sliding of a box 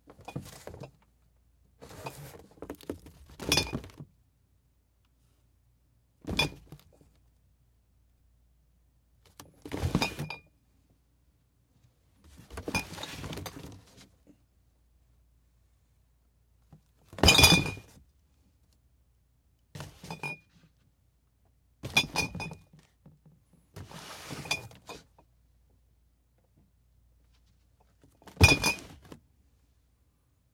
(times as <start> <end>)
1.8 2.6, 23.8 24.9